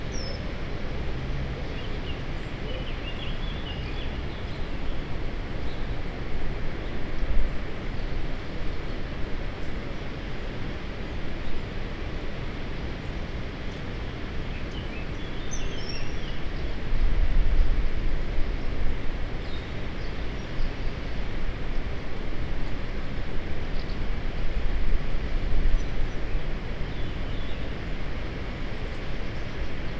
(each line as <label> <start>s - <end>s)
river 0.0s - 29.9s